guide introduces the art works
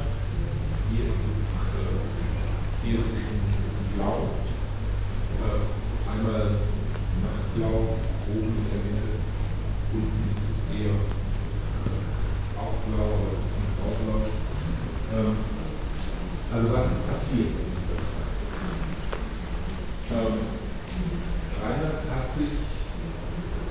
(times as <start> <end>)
0.0 18.6